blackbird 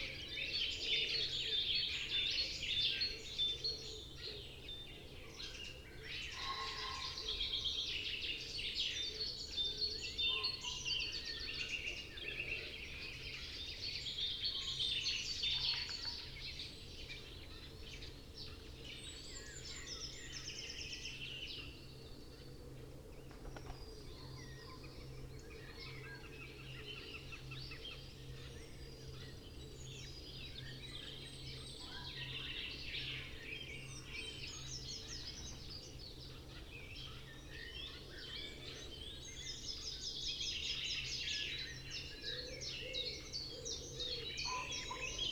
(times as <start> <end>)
23.1 45.3